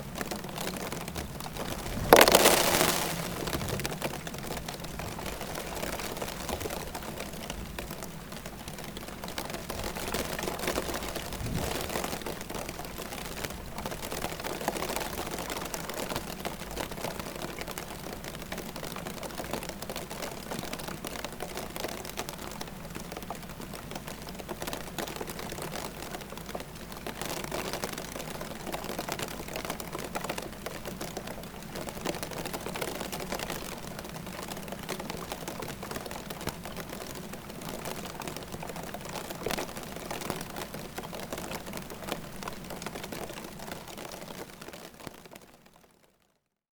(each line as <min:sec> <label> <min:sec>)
0:01.9 snow shower falling onto a metal plate 0:03.8